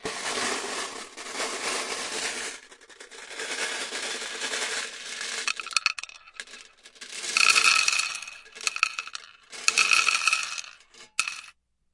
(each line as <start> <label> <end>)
0.0 dumping them onto the board 11.5
4.8 Swirling glass mancala pieces around in their metal container 11.3